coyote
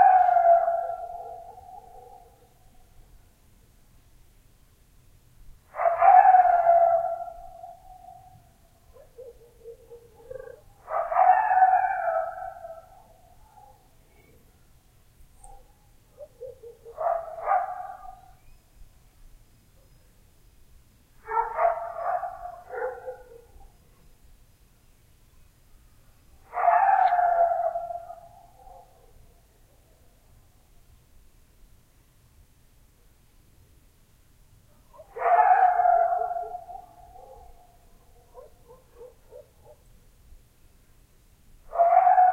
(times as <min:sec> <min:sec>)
0:05.7 0:14.5, 0:15.3 0:18.6, 0:26.4 0:30.1, 0:34.9 0:40.0, 0:41.6 0:42.3